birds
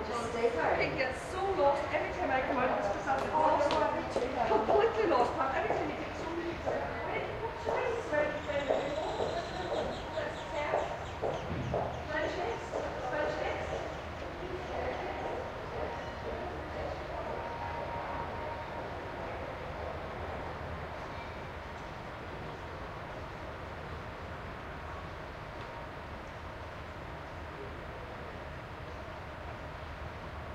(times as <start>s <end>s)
8.3s 12.9s